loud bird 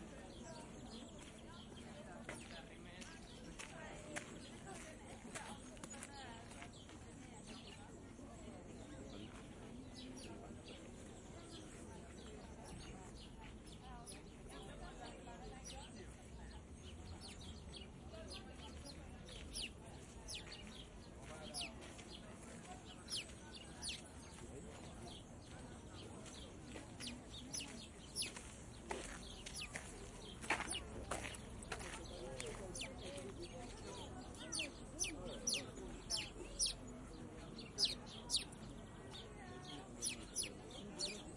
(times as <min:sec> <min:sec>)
0:32.8 0:41.3